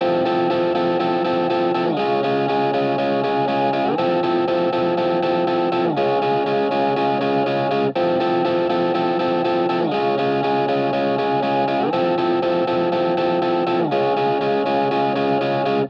electricguitar 0:00.0 - 0:15.8

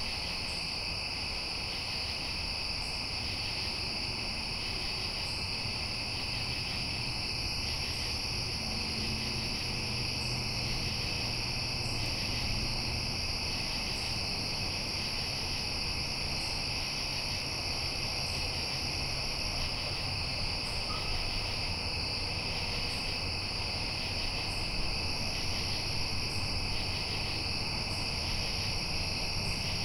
Highway 0:00.0 - 0:29.8

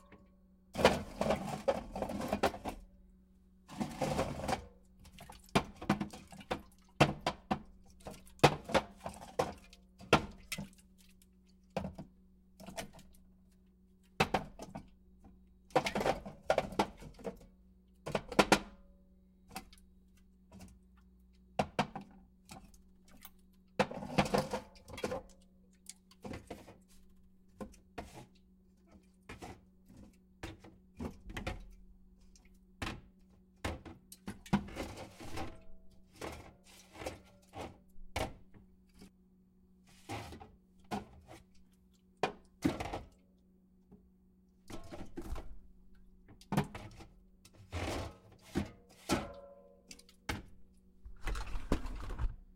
soda cans in fridge 0:00.0 - 0:02.9
soda cans in fridge 0:03.7 - 0:11.0
soda cans in fridge 0:11.7 - 0:18.8
soda cans in fridge 0:19.4 - 0:39.1
soda cans in fridge 0:39.9 - 0:43.2
soda cans in fridge 0:44.7 - 0:52.5

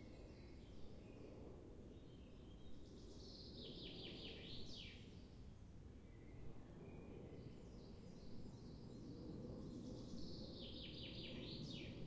airplanes 0:05.0 - 0:12.0

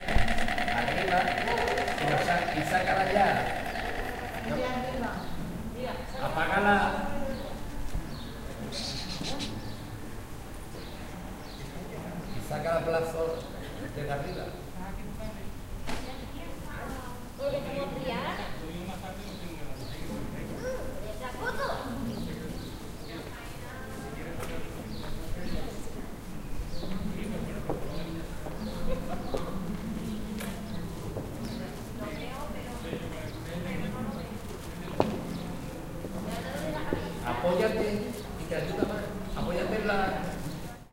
Stork 0:00.0 - 0:05.4
People talking in Spanish 0:00.4 - 0:07.6
People talking in Spanish 0:10.8 - 0:26.1
People talking in Spanish 0:30.8 - 0:40.9

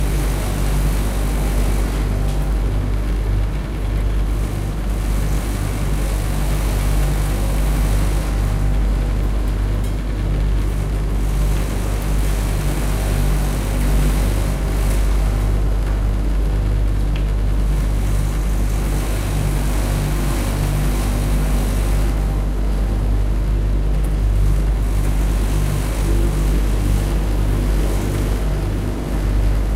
Multiple clothing dryers 0:00.0 - 0:29.7

